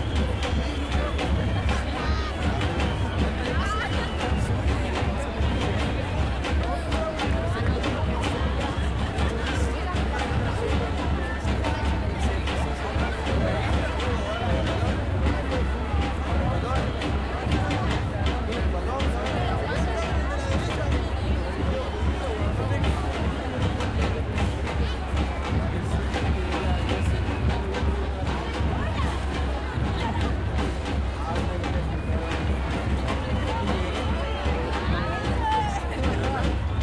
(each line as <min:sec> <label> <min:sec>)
0:00.0 crowd 0:36.8